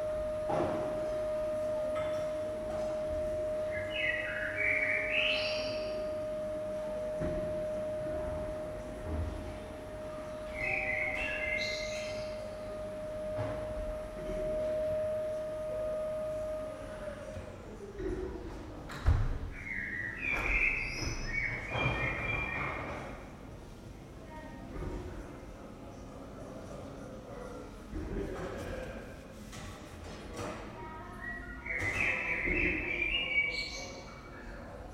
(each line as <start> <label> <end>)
0.0 people 34.9
3.4 birds 6.4
10.3 birds 12.7
19.5 birds 23.1
30.3 children 34.9
31.3 birds 34.3